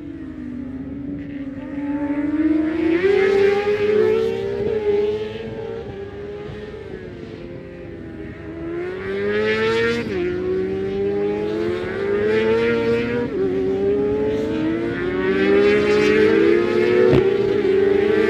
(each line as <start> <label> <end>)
0.0 supersports 600s qualifying 18.2